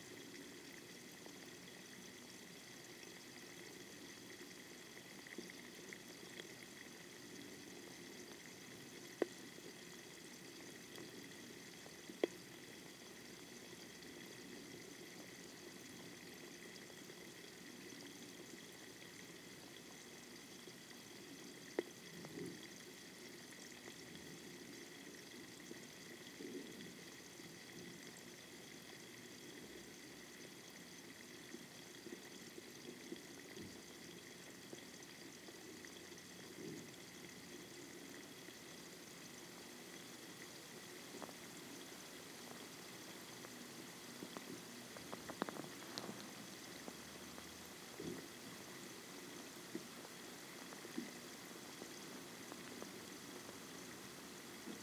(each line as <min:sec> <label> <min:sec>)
0:37.4 Rice wine fermentation 0:54.8